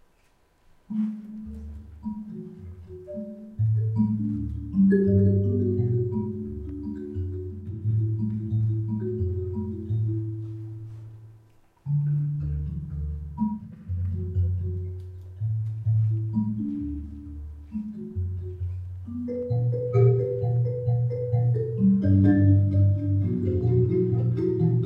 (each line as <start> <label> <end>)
0.8 three amplified Mbira 24.8